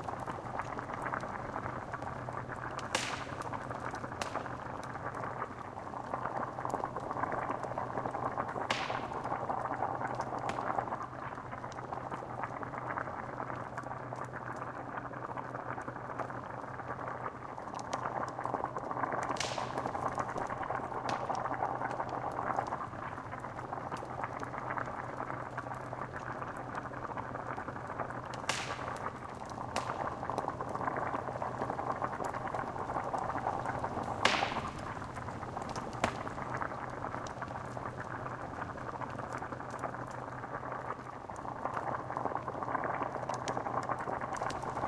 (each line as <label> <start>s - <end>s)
bubbling cauldron 0.0s - 44.8s
crackling 0.0s - 44.8s